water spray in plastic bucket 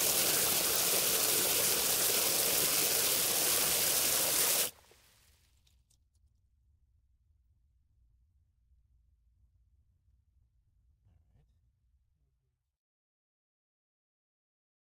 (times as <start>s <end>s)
0.0s 4.8s